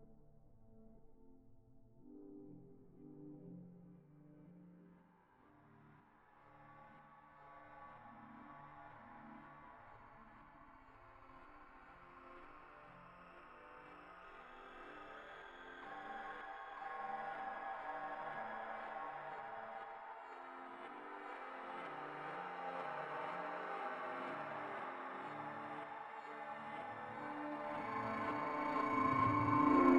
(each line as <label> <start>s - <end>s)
fx riser with harmonic texture 27.8s - 29.9s